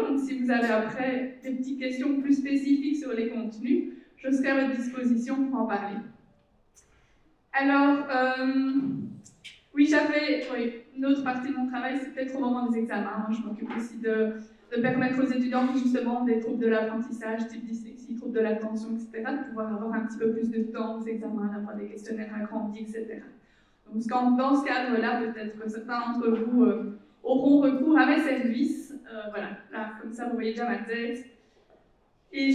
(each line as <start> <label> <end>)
0.5 professors talking 1.6